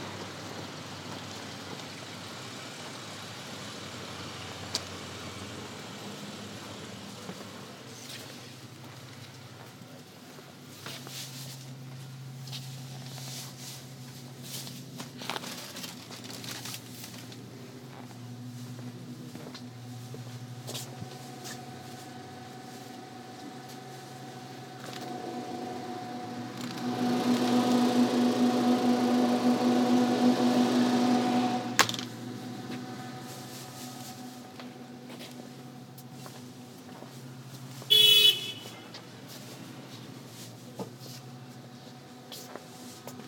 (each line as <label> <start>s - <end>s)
M Train 18.2s - 43.2s
Train announcements 21.0s - 36.2s